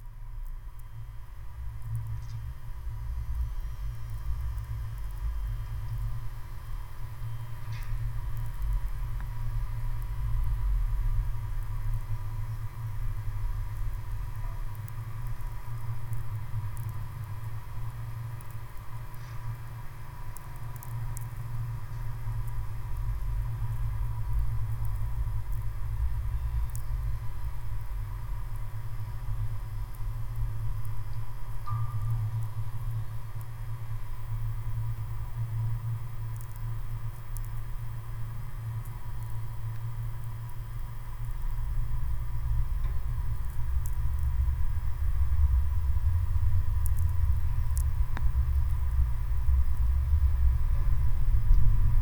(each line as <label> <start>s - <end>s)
metallic parts of the circullar building 0.0s - 52.0s
electro atmosphere 21.4s - 52.0s